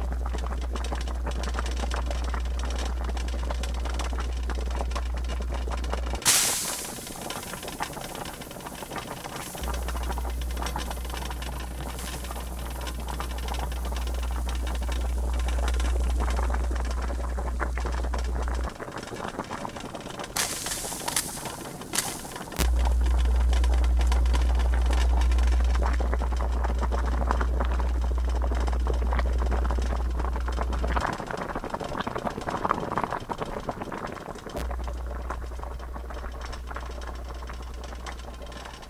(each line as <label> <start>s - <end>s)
pot of water boiling on my stove 0.0s - 38.8s
rattling you hear comes from the noisy coils 0.0s - 38.8s
hiss 6.2s - 14.7s
hiss 20.4s - 22.7s